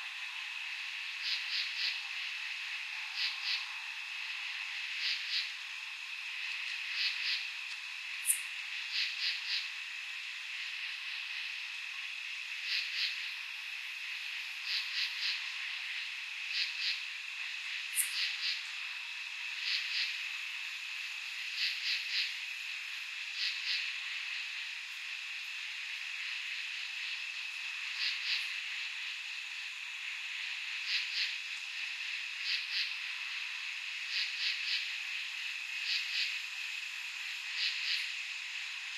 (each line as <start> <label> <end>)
0.0 insects 38.9
0.0 tree frogs 38.9